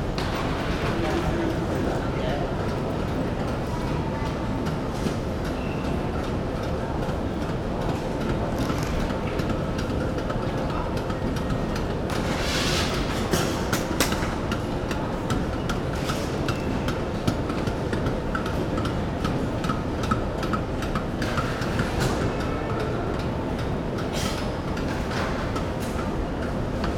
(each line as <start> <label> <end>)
0.0 baggage conveyor belt 26.9